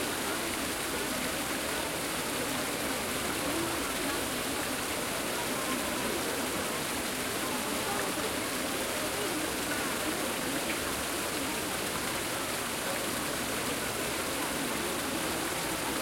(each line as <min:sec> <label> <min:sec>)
0:00.0 crowd 0:16.0
0:00.0 water 0:16.0